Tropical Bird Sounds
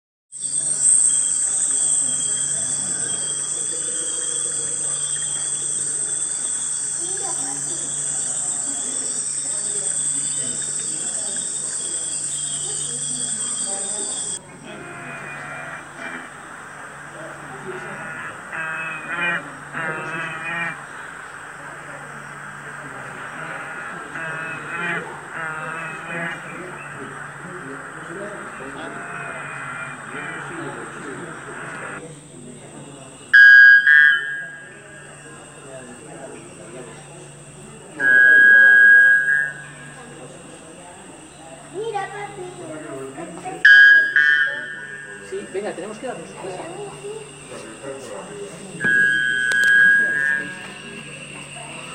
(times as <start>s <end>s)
0.4s 32.0s